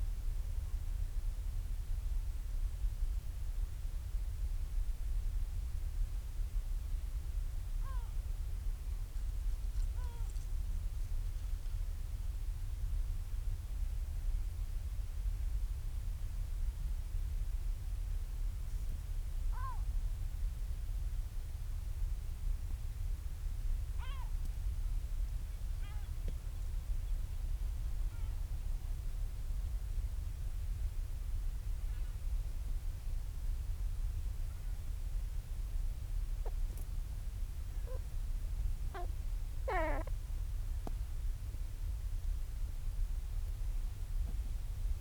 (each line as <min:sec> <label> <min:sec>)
0:07.8 storm petrel quiet calls and purrings 0:08.2
0:09.9 storm petrel quiet calls and purrings 0:10.4
0:19.5 storm petrel quiet calls and purrings 0:19.9
0:24.0 storm petrel quiet calls and purrings 0:24.4
0:25.8 storm petrel quiet calls and purrings 0:26.2
0:36.4 storm petrel quiet calls and purrings 0:36.8
0:37.8 storm petrel quiet calls and purrings 0:38.1
0:38.9 storm petrel quiet calls and purrings 0:40.2